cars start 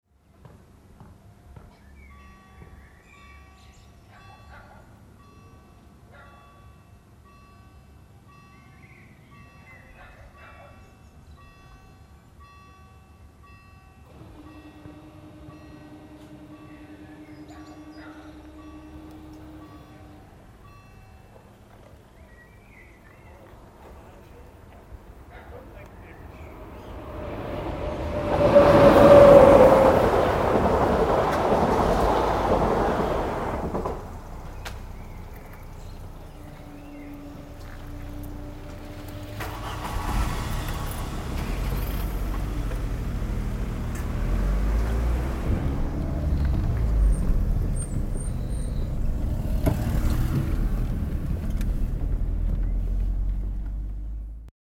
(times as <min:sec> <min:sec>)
0:26.0 0:54.5